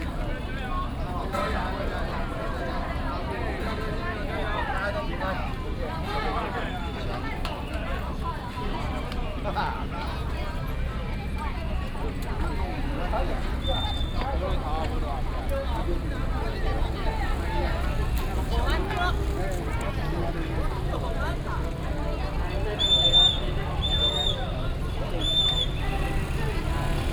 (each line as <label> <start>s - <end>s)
A lot of people 0.0s - 27.1s
Traffic sound 7.2s - 27.1s
Whistle sound 22.8s - 24.5s
Whistle sound 25.1s - 25.8s